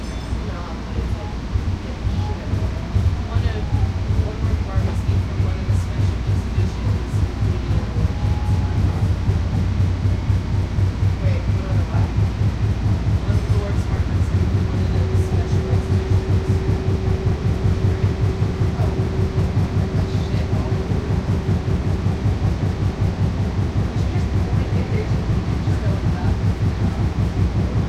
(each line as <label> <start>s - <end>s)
Riding DART train through underground tunnel 0.0s - 27.8s